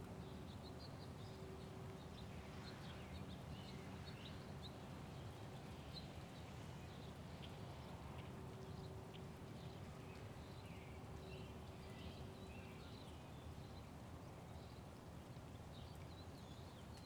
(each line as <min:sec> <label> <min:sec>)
0:00.0 wind 0:17.0